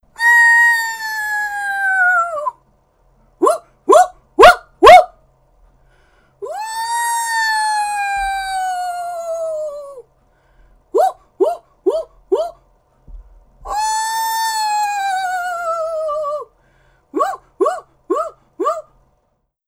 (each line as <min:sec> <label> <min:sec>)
0:00.2 screech owl 0:02.6
0:06.4 screech owl 0:10.1
0:13.7 screech owl 0:16.5
0:17.2 screech owl 0:18.9